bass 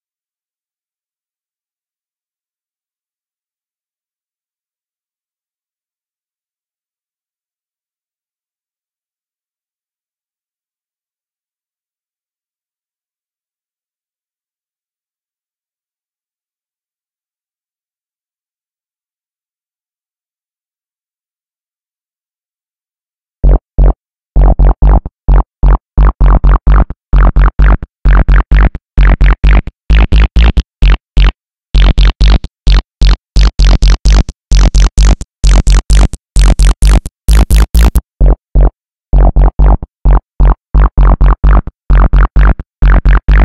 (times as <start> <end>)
23.4 43.4